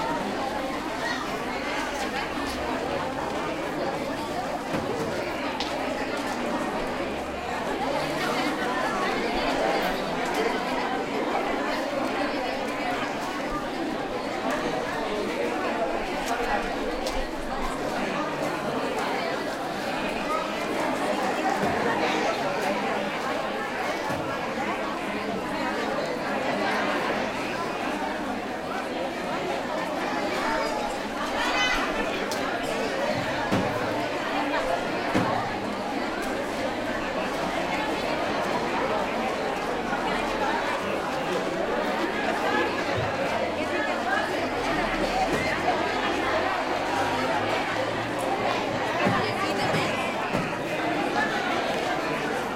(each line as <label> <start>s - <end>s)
spanish voices 0.0s - 52.5s